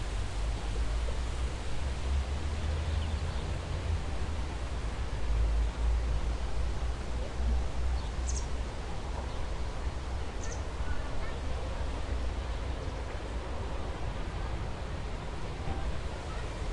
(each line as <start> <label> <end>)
0.0 Noise of leaves 16.7
0.0 Rumble of city 16.7